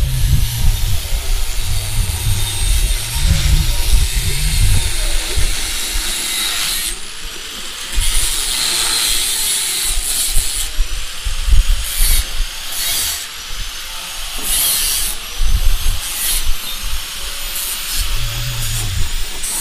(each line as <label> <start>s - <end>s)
costruzione 18.0s - 19.6s